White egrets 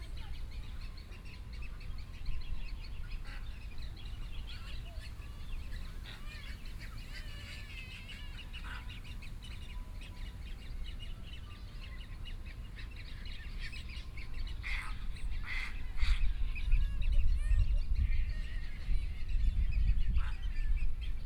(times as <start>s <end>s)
14.6s 16.2s